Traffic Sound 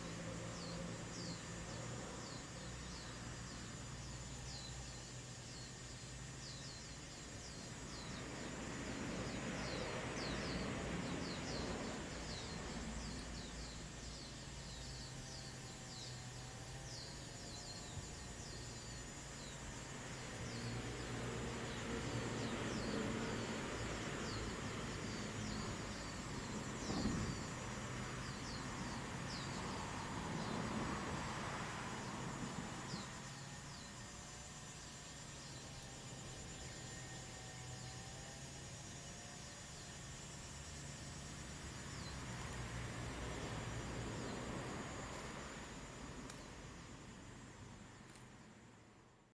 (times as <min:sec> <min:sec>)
0:41.4 0:48.4